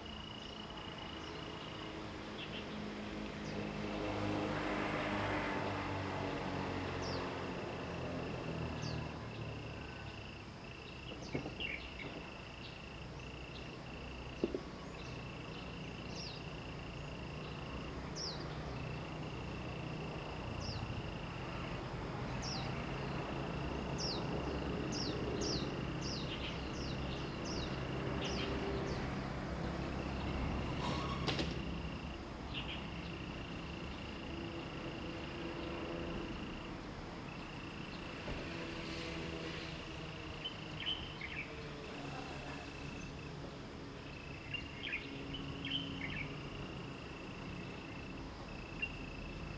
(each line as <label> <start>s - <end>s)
insects 0.0s - 49.5s